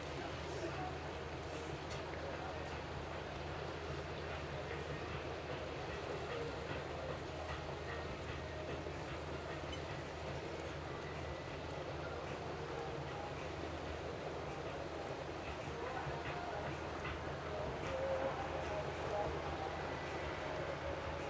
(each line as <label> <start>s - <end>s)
murmur 0.0s - 21.2s
music 0.0s - 21.2s
small waves 0.0s - 21.2s